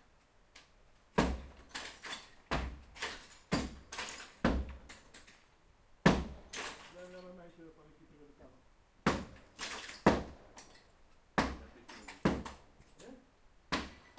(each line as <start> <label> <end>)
1.1 man hitting a wall with a sledge 4.9
6.0 man hitting a wall with a sledge 6.8
9.0 man hitting a wall with a sledge 10.4
11.4 man hitting a wall with a sledge 12.6
13.7 man hitting a wall with a sledge 14.1